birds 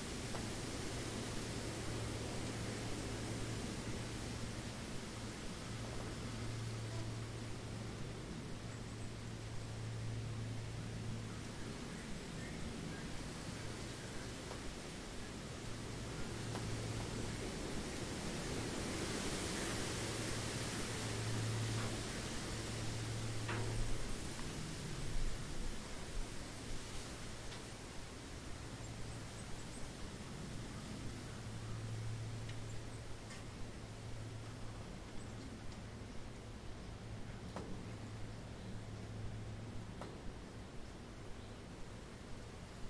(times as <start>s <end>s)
8.6s 18.0s